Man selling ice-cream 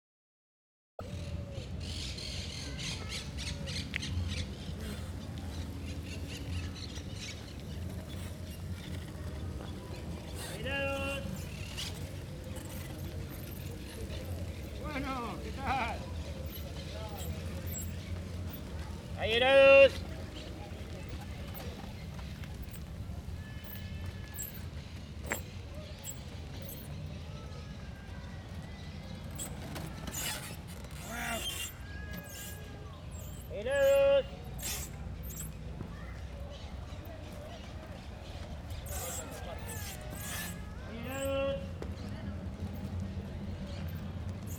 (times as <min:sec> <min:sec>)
0:09.4 0:24.2, 0:28.9 0:42.5